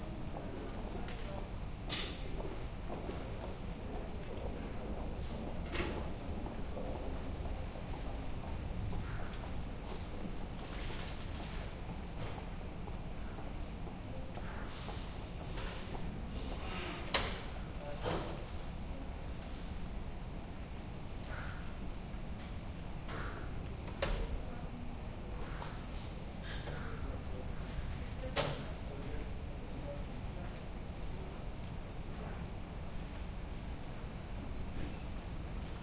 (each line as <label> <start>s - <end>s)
voices 11.7s - 35.0s